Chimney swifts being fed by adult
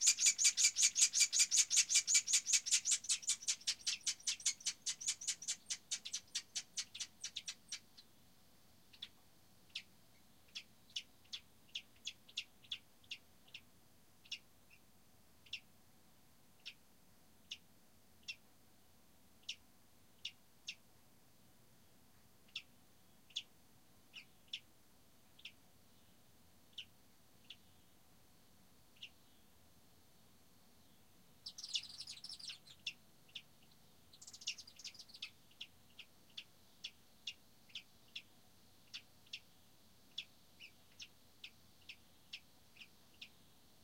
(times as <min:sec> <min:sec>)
0:00.0 0:07.8